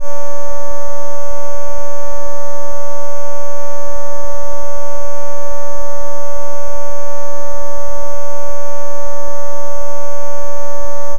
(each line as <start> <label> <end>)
0.0 filtered sawtooth wave 11.1